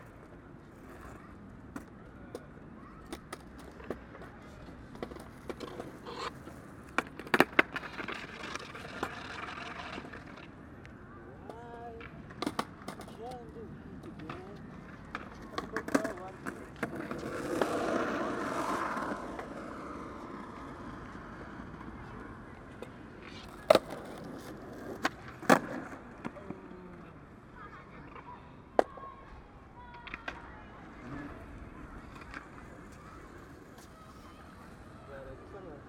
0.0s skateboarders playing 35.8s

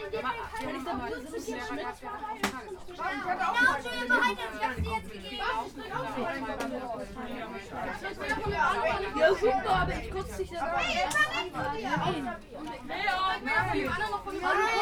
0.0s kids on train 14.8s

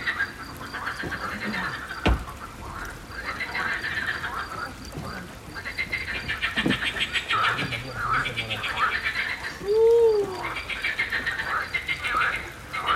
0.0s ducks 12.9s
0.0s song of frogs in a pond 12.9s

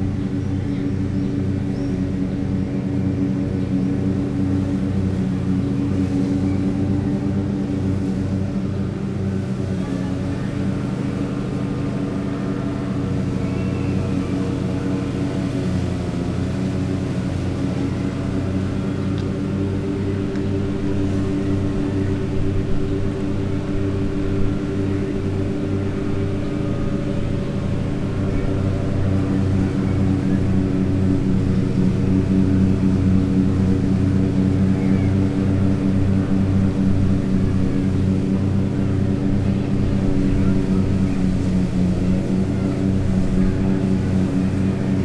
0.0s kids playing 45.0s
0.0s man riding a tractor lawnmower back and forth 45.0s

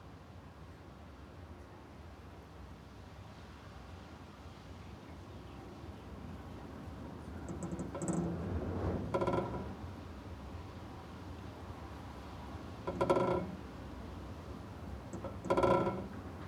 6.9s wind rattling a window 16.4s

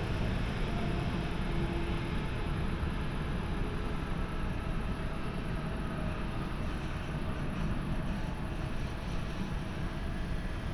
0.0s busy train traffic 10.7s

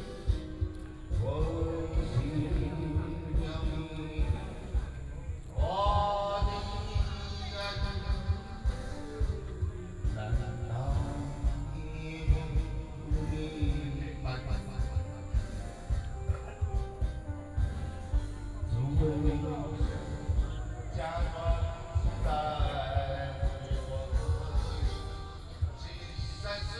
0.0s Karaoke 26.7s

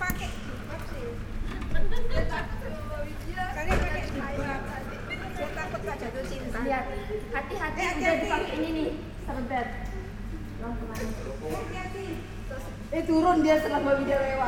0.0s noisy tourists arrive 14.4s

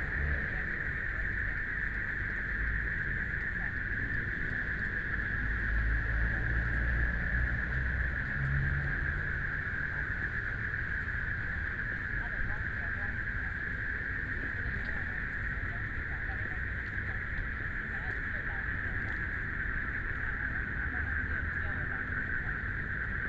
0.0s People walking and running 7.1s
0.0s Traffic Sound 23.2s
0.0s Walking along the lake 23.2s

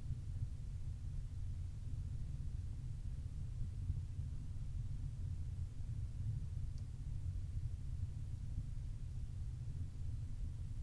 0.0s low drone of a small peat-burning stove 10.8s

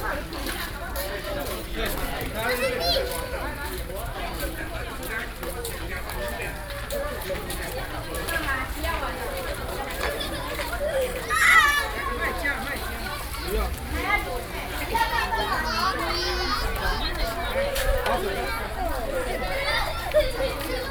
2.2s Children play in the water 20.9s

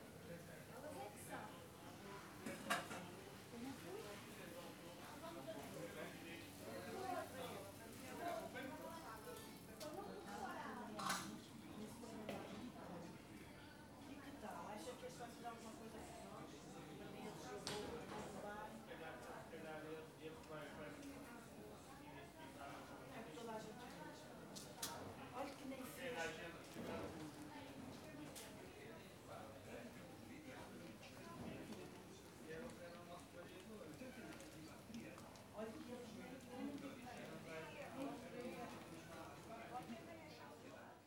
0.0s vendors talking to each other and to customers 41.0s

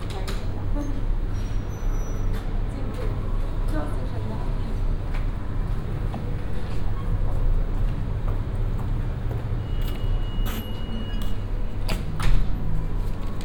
9.0s shopping center sounds coming from afar 13.4s

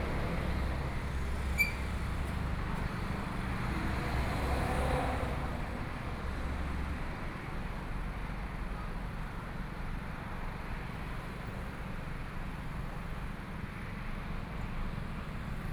0.0s Traffic Sound 6.7s

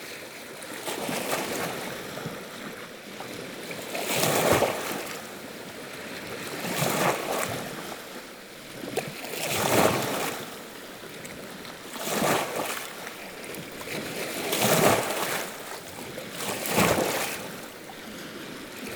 0.0s Sevan lake 18.9s

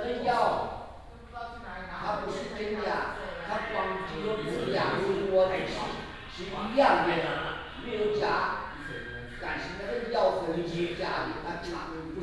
0.0s Many elderly people chatting 12.2s

